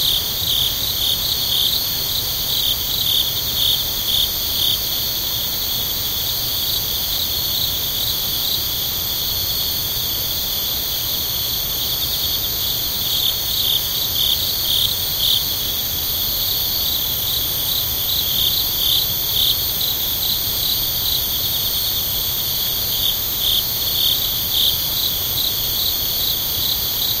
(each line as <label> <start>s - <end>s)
crickets/cicadas/bugs 0.0s - 27.2s